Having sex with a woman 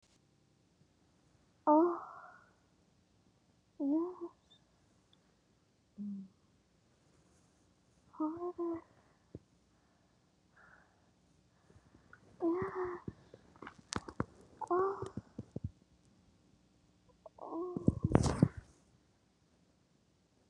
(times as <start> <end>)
1.7 2.6, 11.8 15.7